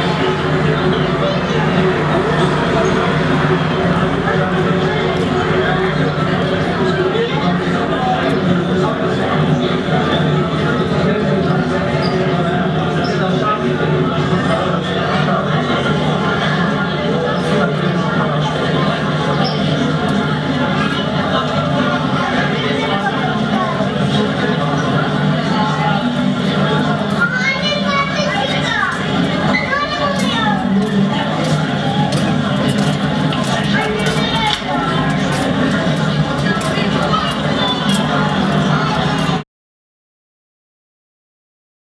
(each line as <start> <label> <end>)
0.0 energic big cities 39.4